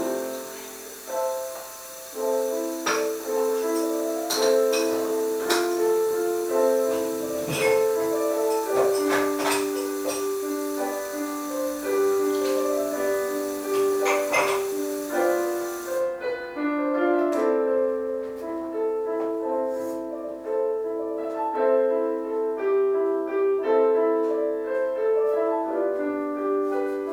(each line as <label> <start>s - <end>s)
someone exercising piano 0.0s - 27.1s
Dishes 2.8s - 5.8s
Dishes 7.4s - 10.4s
Dishes 13.7s - 15.1s